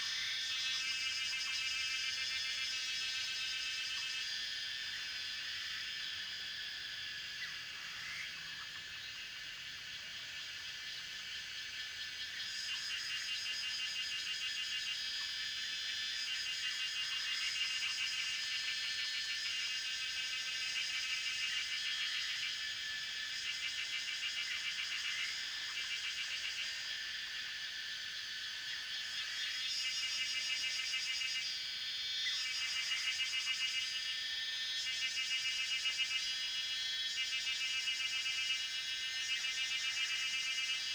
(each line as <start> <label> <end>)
0.0 Cicada sounds 40.9